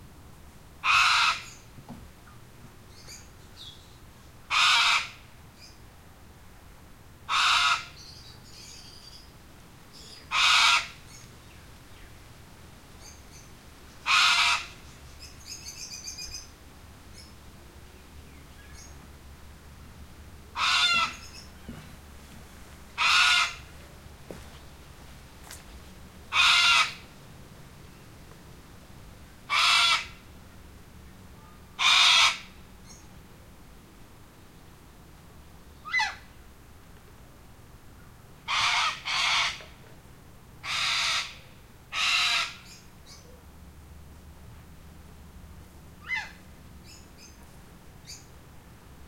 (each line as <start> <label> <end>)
0.8 lone cockatoo calling 1.6
4.5 lone cockatoo calling 5.8
7.3 lone cockatoo calling 9.0
10.0 lone cockatoo calling 11.3
13.0 lone cockatoo calling 16.5
20.5 lone cockatoo calling 21.9
23.0 lone cockatoo calling 23.7
26.3 lone cockatoo calling 27.1
29.5 lone cockatoo calling 30.2
31.4 lone cockatoo calling 33.0
35.8 lone cockatoo calling 36.3
38.4 lone cockatoo calling 39.8
40.6 lone cockatoo calling 43.4
46.0 lone cockatoo calling 47.4